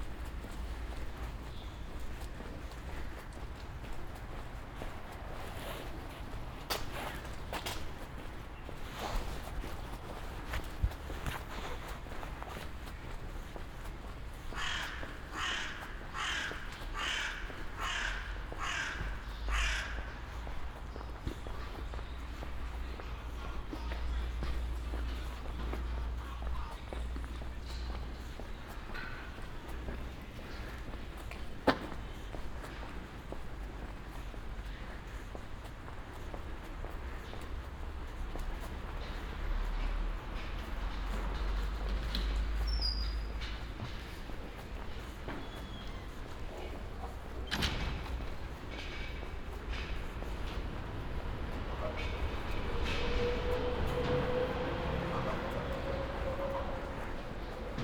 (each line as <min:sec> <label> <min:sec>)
0:49.8 start of the train 0:57.8